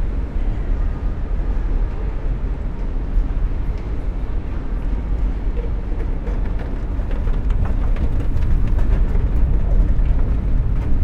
escalators, going to the top and making drone sounds 0.0 - 11.0

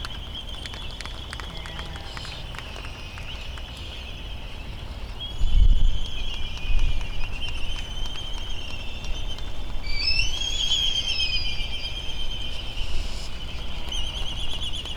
slight breeze 0.0 - 14.9

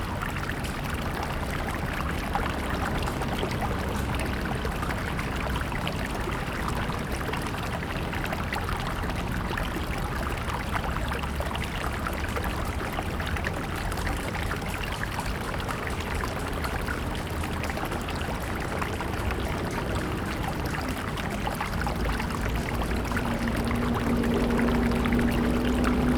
Stream sound 0.0 - 26.1
Traffic Sound 8.4 - 26.1

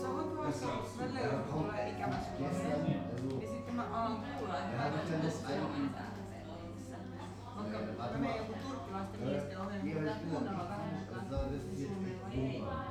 bar people 0.0 - 12.9

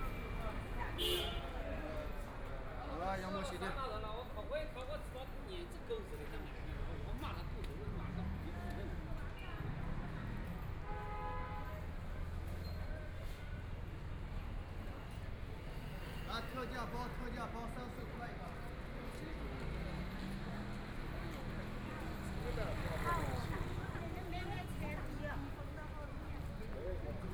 Traffic Sound 0.0 - 27.3
walking in the Street 0.0 - 27.3

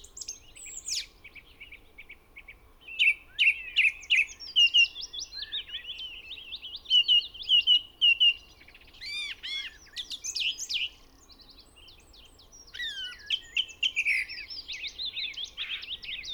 blackbird 0.0 - 16.3
song thrush song 0.0 - 16.3
willow warbler 0.0 - 16.3
pheasant 6.9 - 16.3
crow 12.8 - 13.3

